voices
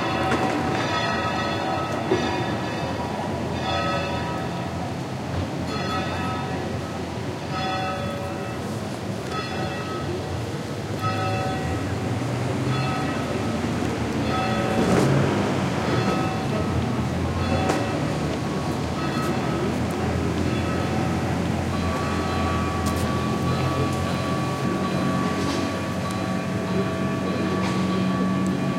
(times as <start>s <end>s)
8.4s 28.7s